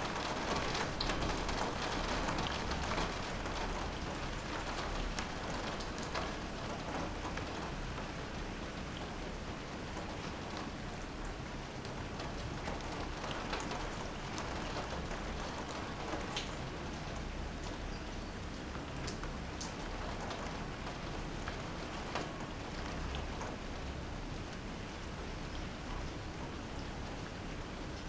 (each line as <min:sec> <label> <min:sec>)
0:00.0 rain 0:28.0